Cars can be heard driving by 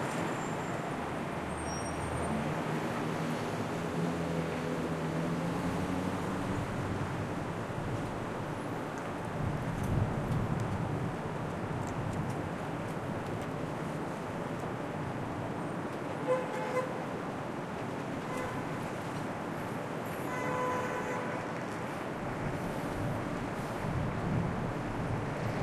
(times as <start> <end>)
0.0 10.0